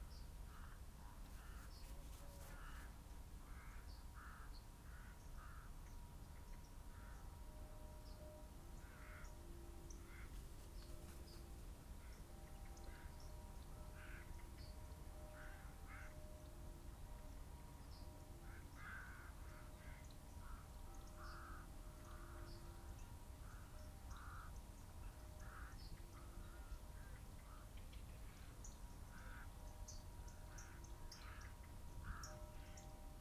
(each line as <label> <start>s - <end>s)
background noise 0.0s - 33.2s
crow 3.5s - 5.8s
crow 8.8s - 9.3s
crow 14.0s - 14.3s
crow 15.4s - 16.2s
crow 18.5s - 22.4s
crow 23.4s - 24.5s
crow 25.4s - 28.4s
crow 30.5s - 32.8s